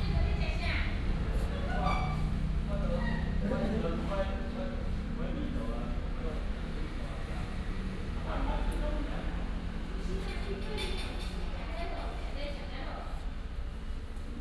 0.0s Traffic sound 10.6s

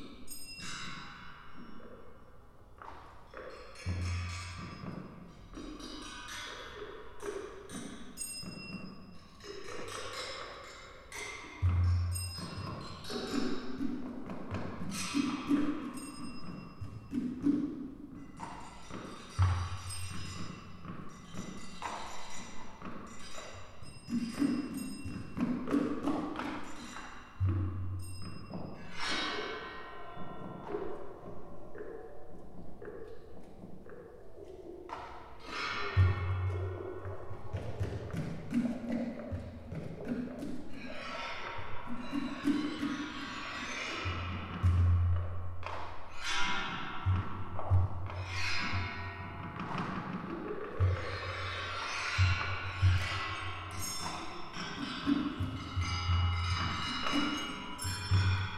3.4s various objects to create noise from water 58.5s

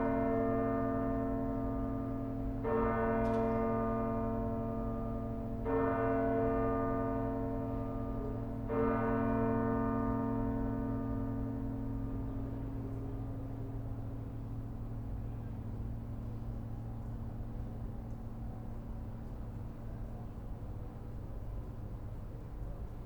0.0s Churchbells 16.2s

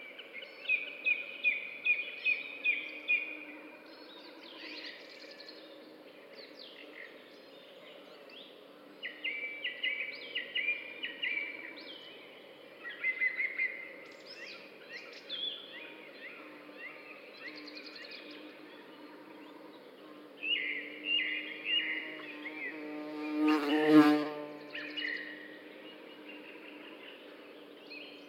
0.0s birds 28.2s

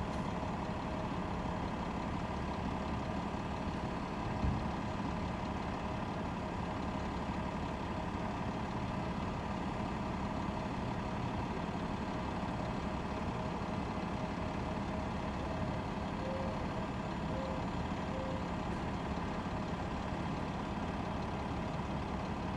0.0s Idling bus 22.5s

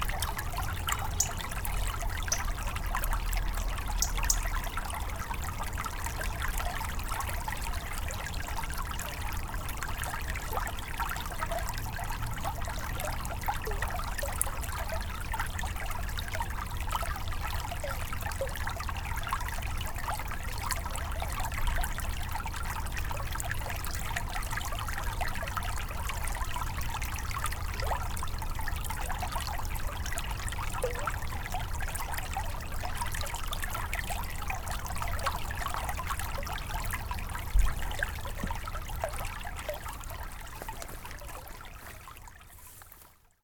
0.0s small river 43.4s

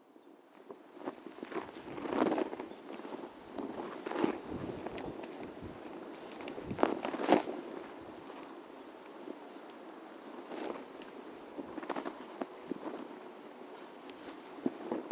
0.0s Birds 15.1s

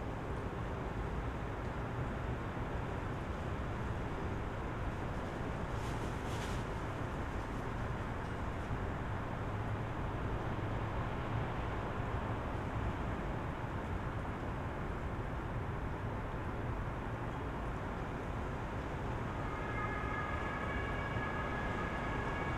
18.0s sirens 22.5s

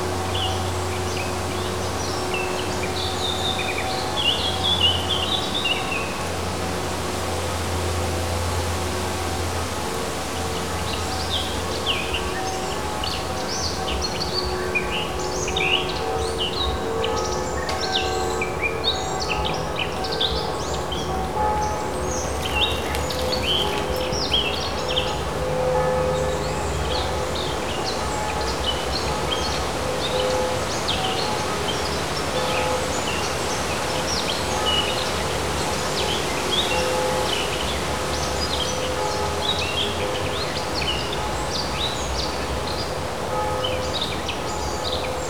0.0s distant church bells 45.2s
19.4s rustling forest 26.6s

